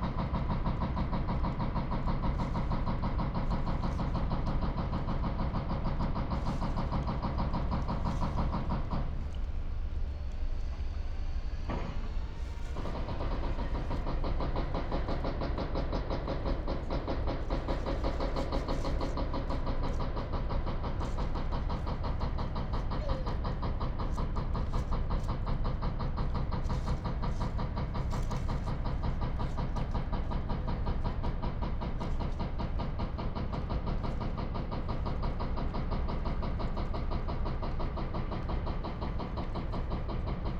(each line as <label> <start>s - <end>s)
helicopter 0.0s - 40.5s